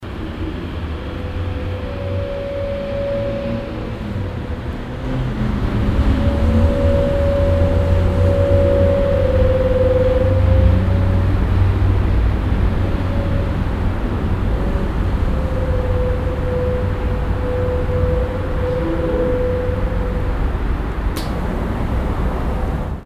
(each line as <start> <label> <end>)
1.1 windspiel 13.8